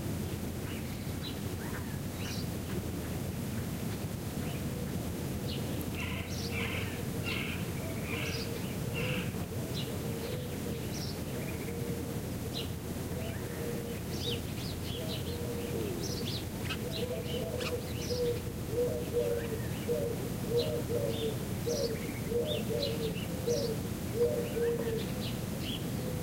0.3s birds 26.2s

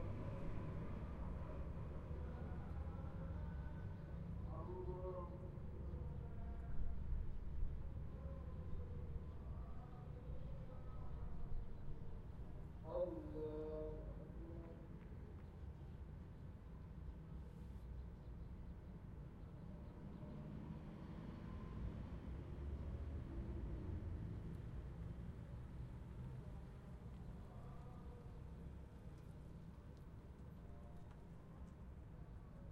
2.2s Call to Prayer 7.1s
12.6s Call to Prayer 15.5s

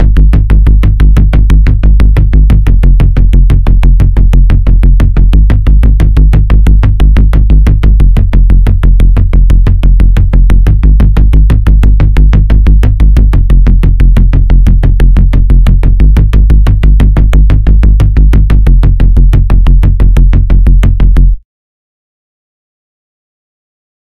0.0s Square Bass 21.4s

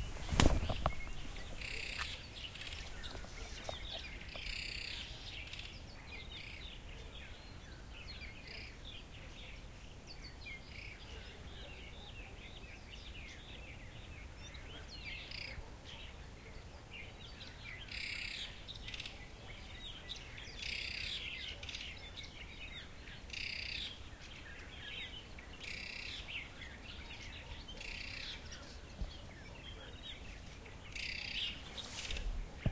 0.0s bird 32.7s

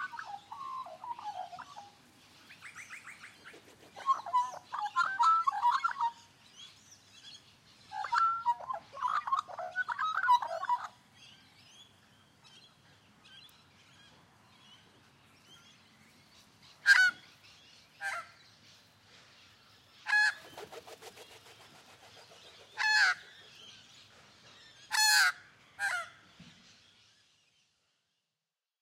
4.0s parrots 6.2s
7.9s parrots 11.0s
16.7s parrots 17.4s
18.0s parrots 18.4s
20.1s one magpie flys away 23.6s
22.7s parrots 23.9s
24.8s parrots 26.4s

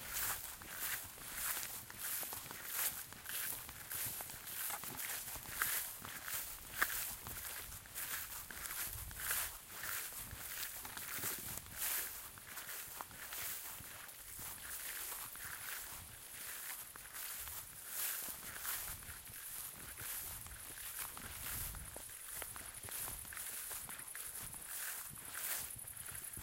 0.0s Footsteps on sand and gravel 26.4s

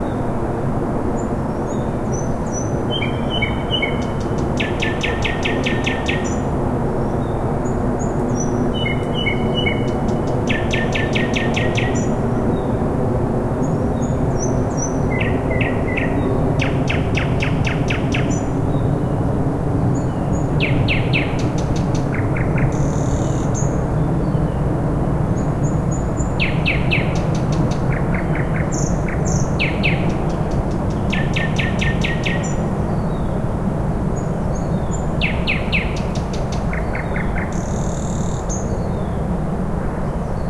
1.8s nightingale 6.5s
7.2s nightingale 12.6s
14.0s nightingale 18.9s
20.0s nightingale 23.8s
25.6s nightingale 33.4s
34.2s nightingale 39.2s

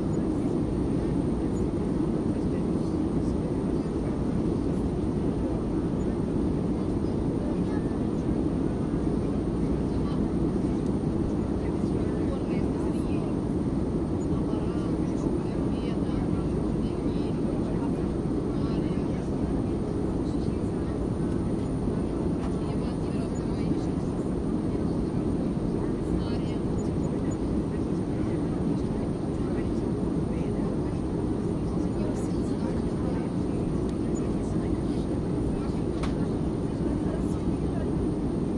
0.0s airplane 38.5s
0.0s englisch announcements 38.5s

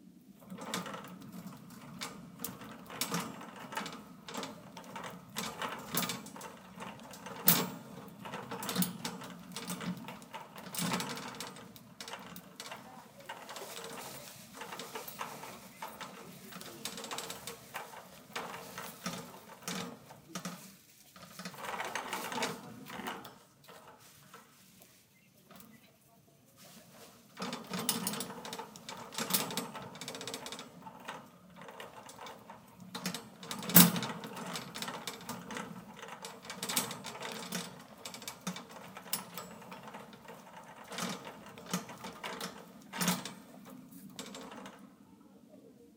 0.4s Shopping cart basket being pushed at medium speed 25.8s
26.6s Shopping cart basket being pushed at medium speed 44.8s

